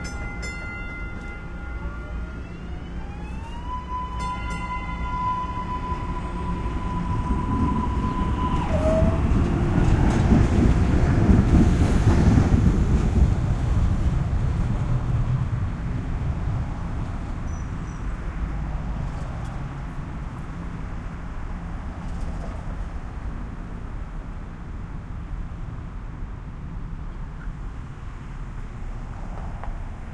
T train departing 0.0 - 23.6

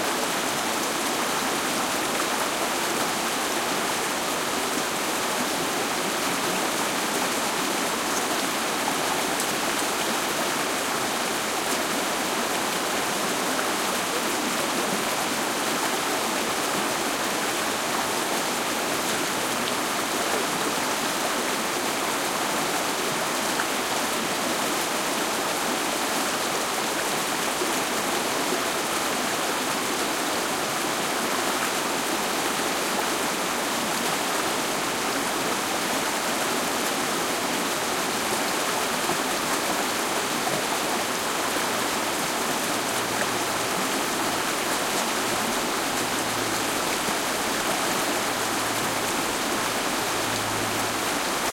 rapids in the distance 0.0 - 51.5

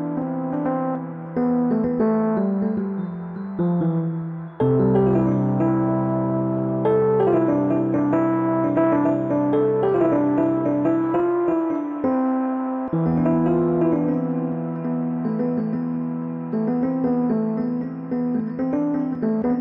key melody 0.0 - 19.6

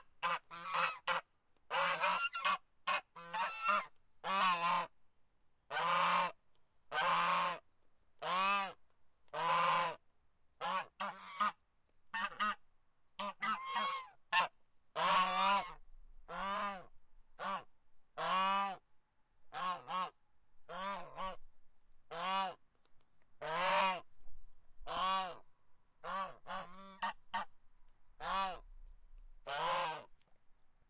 Goose 0.0 - 4.9
Goose 5.7 - 7.6
Goose 8.2 - 10.0
Goose 10.6 - 12.6
Goose 13.2 - 18.8
Goose 19.5 - 21.4
Goose 22.1 - 22.6
Goose 23.4 - 24.1
Goose 24.8 - 25.4
Goose 26.0 - 27.5
Goose 28.2 - 28.7
Goose 29.4 - 30.1

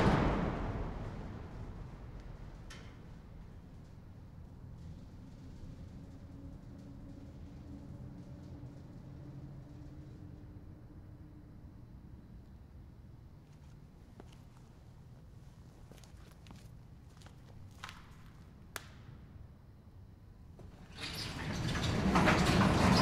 huge boom at the end 0.0 - 3.6
Slamming shut and opening a huge metal warehouse door on rollers 0.0 - 10.4
Slamming shut and opening a huge metal warehouse door on rollers 20.6 - 23.0

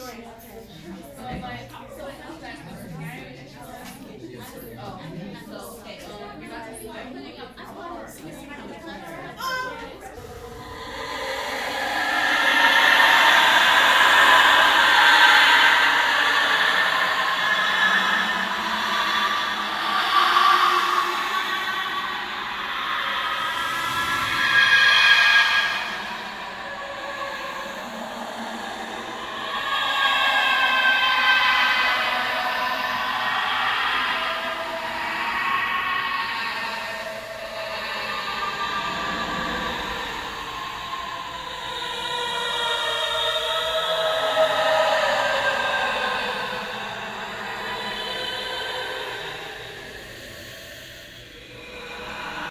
Ghostly Ghouly Screaming 8.7 - 52.5

